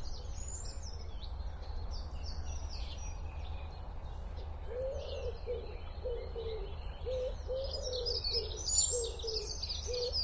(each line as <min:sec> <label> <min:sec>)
0:00.0 birds 0:10.2